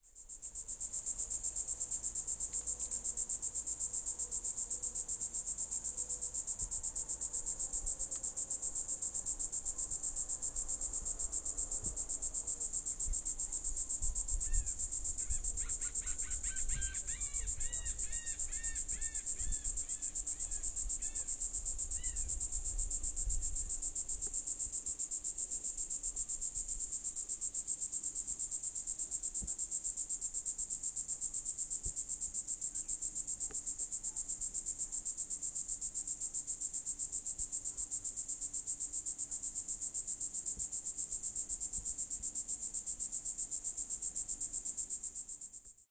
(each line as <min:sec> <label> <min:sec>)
0:00.0 cicada close to the recorder 0:45.9